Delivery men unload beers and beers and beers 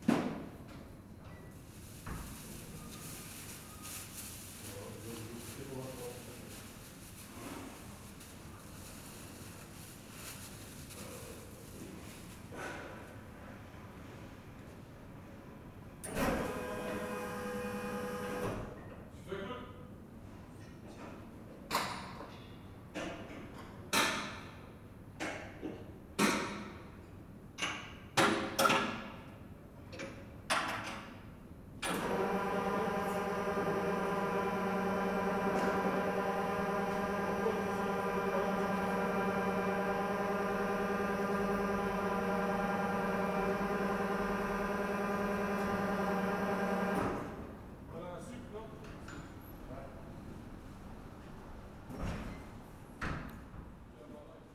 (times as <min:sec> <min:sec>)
0:31.8 0:47.7